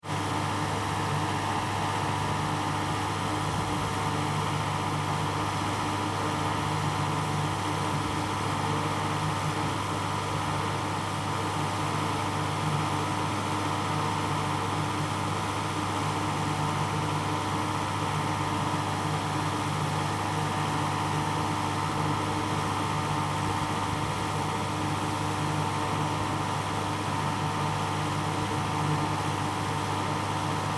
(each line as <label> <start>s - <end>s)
air condition 0.0s - 30.7s